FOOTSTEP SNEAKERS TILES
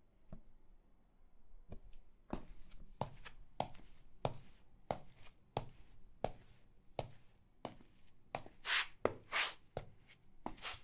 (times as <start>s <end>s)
10.4s 10.8s